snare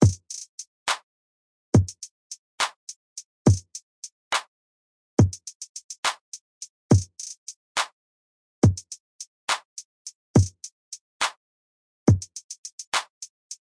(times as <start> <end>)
0.0 1.1, 2.6 2.9, 4.3 4.5, 6.0 6.2, 7.2 8.0, 9.5 9.7, 11.2 11.4, 12.8 13.3